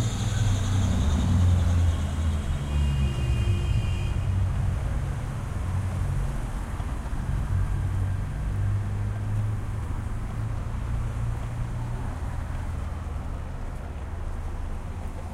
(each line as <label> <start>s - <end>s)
construction going on 0.0s - 3.4s
Walking on street 0.0s - 15.3s
traffic 0.0s - 15.3s